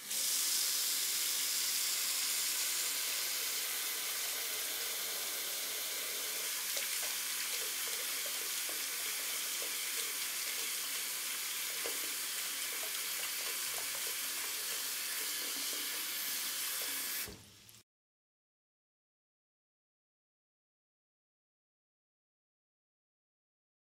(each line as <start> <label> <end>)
0.0 turning off and on a sink 17.8